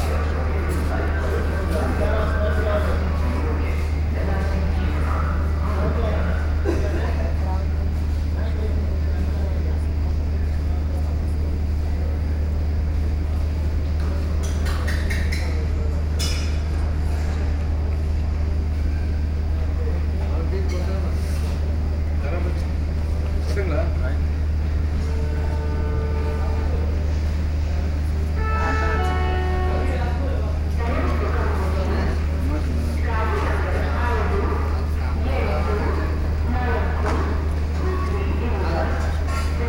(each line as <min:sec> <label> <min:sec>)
0:00.0 train 0:39.6